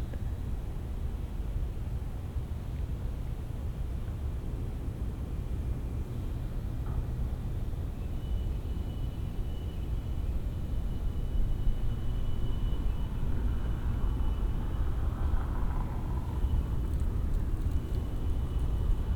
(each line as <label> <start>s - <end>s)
wind 0.0s - 19.1s
motor vehicles 10.7s - 19.1s